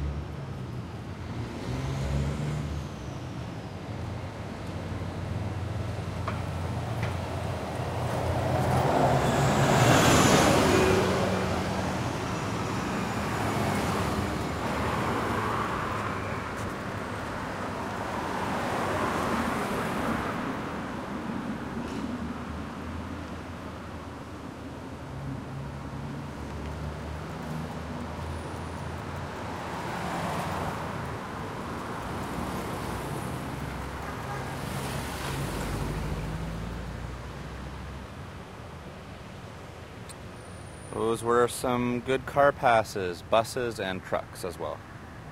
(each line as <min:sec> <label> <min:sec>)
0:07.9 Car passes Medium 0:16.6